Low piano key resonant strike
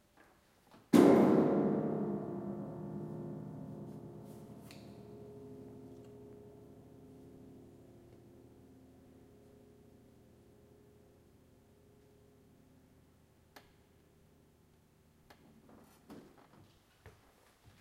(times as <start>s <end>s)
1.0s 11.2s